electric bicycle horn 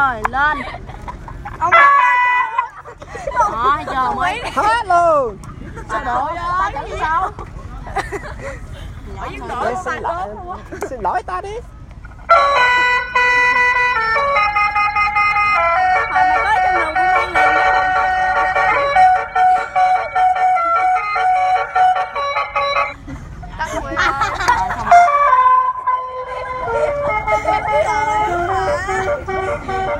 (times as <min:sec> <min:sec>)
0:01.7 0:02.7, 0:12.3 0:23.0, 0:24.9 0:29.9